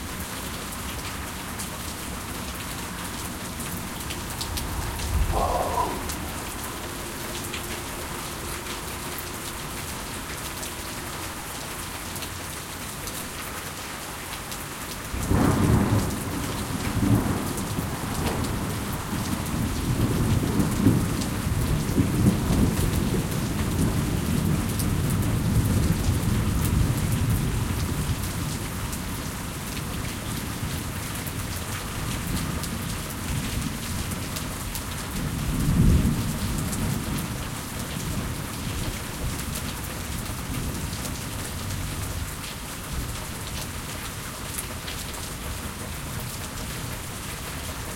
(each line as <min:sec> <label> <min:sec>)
0:00.0 rain 0:47.9
0:15.2 Thunder 0:24.7